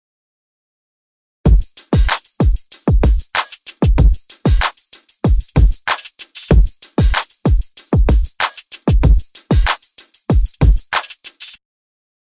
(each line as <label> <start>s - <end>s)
bass 1.5s - 1.8s
hip-hop drums 1.5s - 11.6s
bass 5.4s - 6.8s
bass 7.5s - 9.4s